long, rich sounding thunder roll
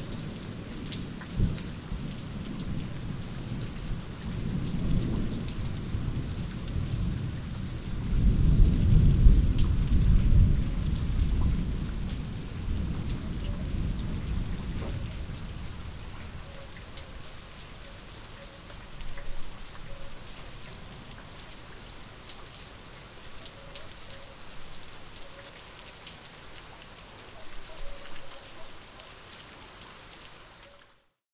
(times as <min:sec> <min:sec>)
0:04.1 0:16.2